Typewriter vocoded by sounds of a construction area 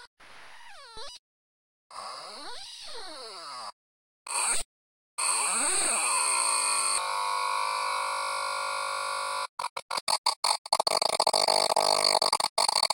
0:09.6 0:12.9

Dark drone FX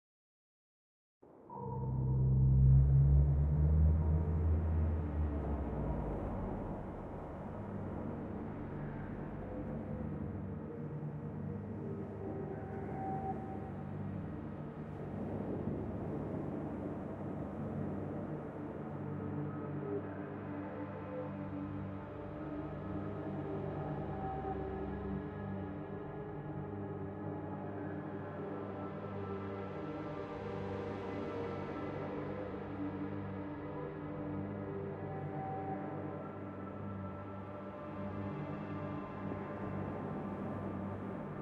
0:01.5 0:11.1

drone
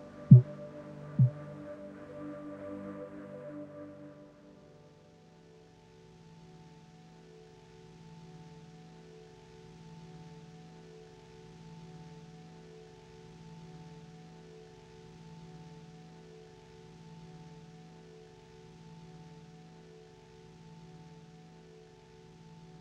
0:00.0 0:01.6

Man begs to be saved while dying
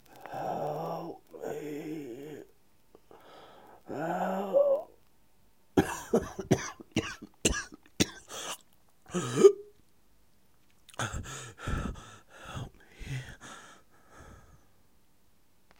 0:00.3 0:02.5

